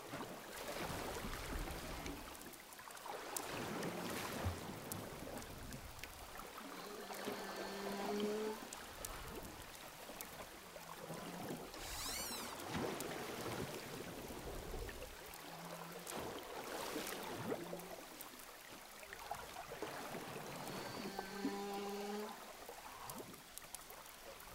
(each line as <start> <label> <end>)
6.5 Whales sound 8.8
11.1 Whales sound 14.9